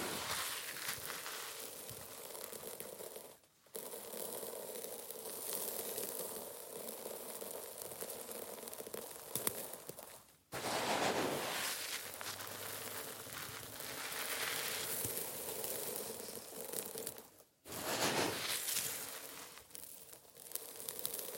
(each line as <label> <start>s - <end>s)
Grabbing sand 0.0s - 1.5s
pourring it on a pile of sand 0.0s - 21.3s
Grabbing sand 10.6s - 15.2s
Grabbing sand 17.7s - 19.6s